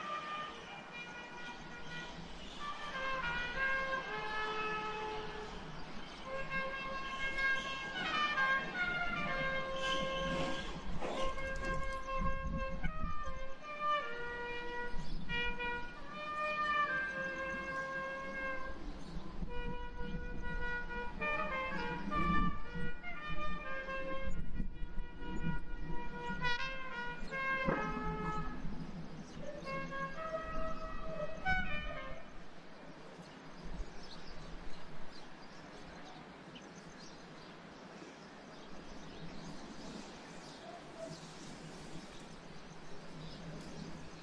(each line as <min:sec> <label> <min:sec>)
0:00.0 trumpet test songs 0:18.9
0:19.5 trumpet test songs 0:28.8
0:29.4 trumpet test songs 0:32.5